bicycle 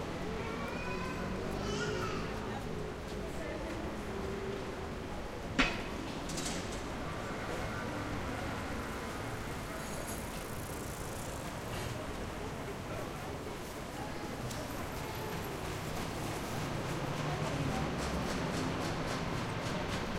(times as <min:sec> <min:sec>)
0:06.0 0:13.3, 0:13.9 0:20.1